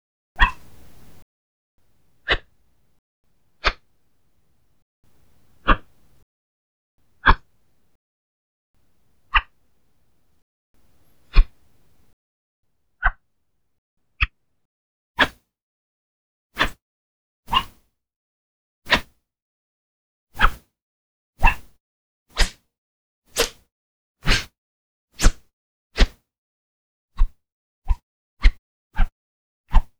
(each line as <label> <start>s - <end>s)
sword swipe 23.4s - 23.6s